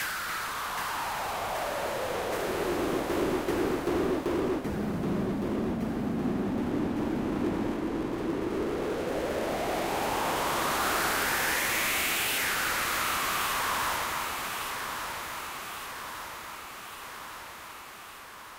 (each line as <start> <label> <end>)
0.0 noise sweep 16.4